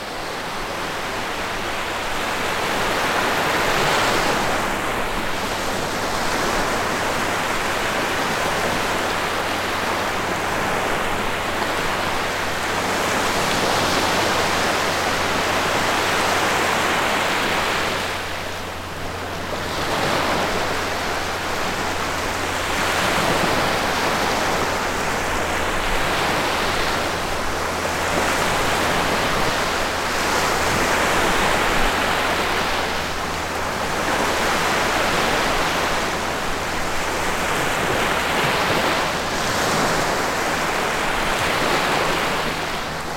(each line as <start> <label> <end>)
0.0 Little waves in front on the sea 43.1